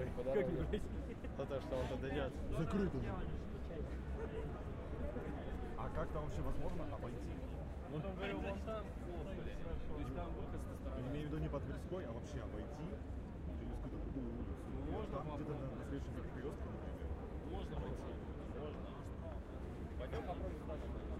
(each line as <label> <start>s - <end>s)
People are talking and shouting 0.0s - 21.1s